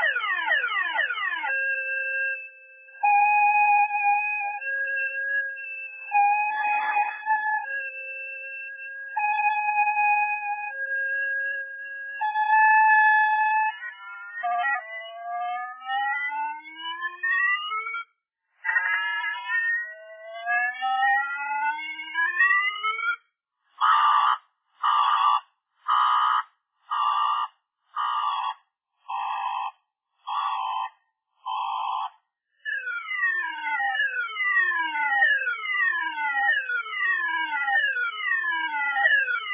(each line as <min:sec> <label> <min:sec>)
0:19.2 car alarm slowly dying out 0:32.1
0:32.7 car alarm slowly dying out 0:39.5